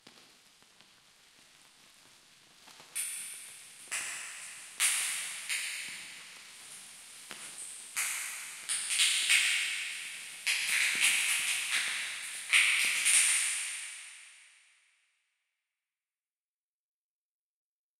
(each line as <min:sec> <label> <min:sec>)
0:00.1 sizzle 0:13.7